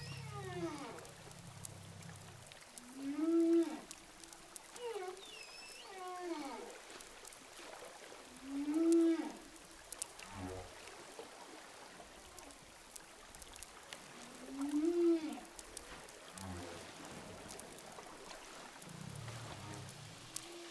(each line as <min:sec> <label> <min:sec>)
0:00.0 whales sound 0:03.9
0:00.0 baleine à bosse 0:04.0
0:04.8 whales sound 0:06.8
0:14.2 whales sound 0:20.7